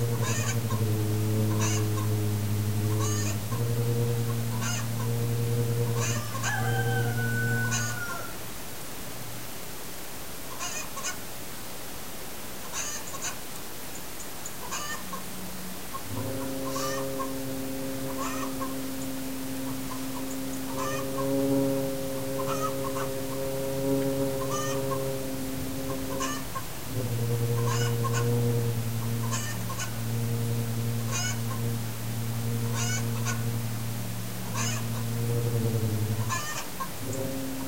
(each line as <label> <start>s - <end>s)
hens and roosters 0.0s - 0.9s
hens and roosters 1.5s - 2.2s
hens and roosters 2.9s - 3.4s
hens and roosters 4.3s - 5.2s
hens and roosters 5.9s - 8.6s
hens and roosters 10.5s - 11.2s
hens and roosters 12.6s - 13.4s
hens and roosters 14.4s - 17.4s
hens and roosters 18.1s - 21.4s
hens and roosters 22.4s - 23.0s
hens and roosters 24.4s - 25.0s
hens and roosters 25.9s - 27.0s
hens and roosters 27.6s - 30.0s
hens and roosters 31.1s - 31.7s
hens and roosters 32.7s - 33.4s
hens and roosters 34.4s - 35.6s
hens and roosters 36.2s - 37.2s